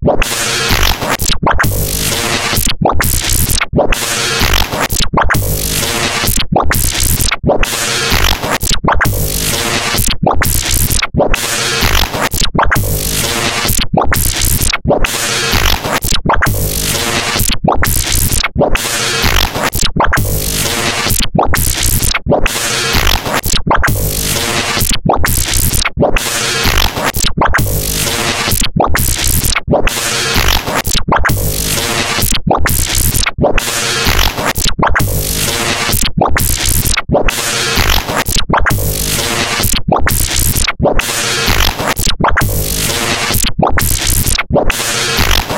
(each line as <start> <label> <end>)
0.0 granular synthesis sampling instrument 45.5